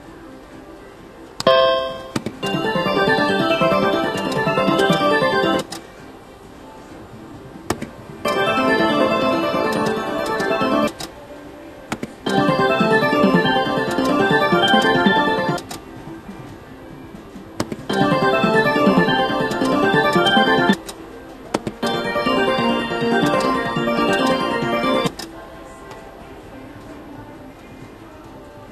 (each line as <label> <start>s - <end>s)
slot machine noises 1.5s - 5.7s
Casino background noises 1.5s - 11.2s
slot machine noises 8.2s - 11.0s
Casino background noises 12.2s - 16.6s
slot machine noises 12.2s - 15.7s
Casino background noises 17.2s - 25.4s
slot machine noises 17.9s - 20.8s
slot machine noises 21.8s - 25.2s